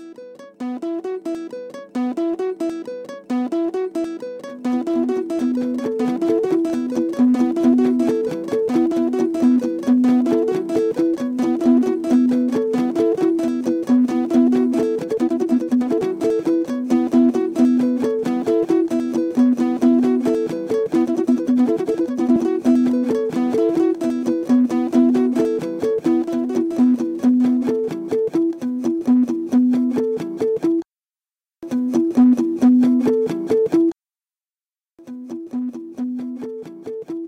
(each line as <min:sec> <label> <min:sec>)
0:00.2 short guitar riffs (nylon strings) 0:30.8
0:31.6 short guitar riffs (nylon strings) 0:33.9